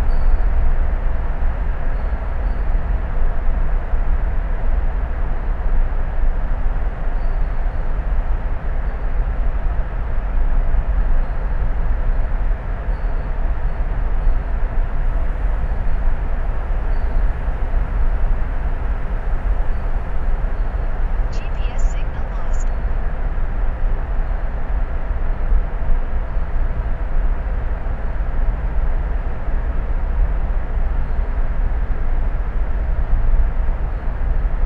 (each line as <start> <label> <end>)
0.0 drive through the Sydney Harbour Tunnel 34.6